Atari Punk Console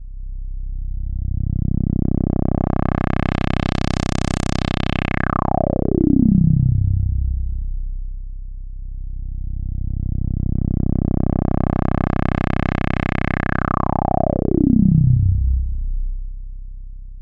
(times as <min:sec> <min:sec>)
0:10.9 0:15.8